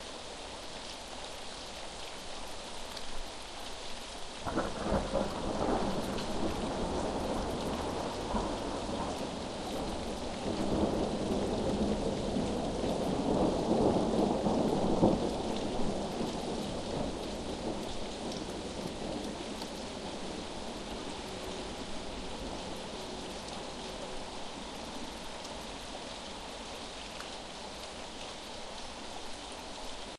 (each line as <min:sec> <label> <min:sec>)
0:00.0 Rain can be heard splattering on ashphalt 0:30.1
0:00.0 muffled Rainfall 0:30.1
0:00.0 tree leaves 0:30.1
0:04.4 deep rumbling and crackling thunder 0:24.4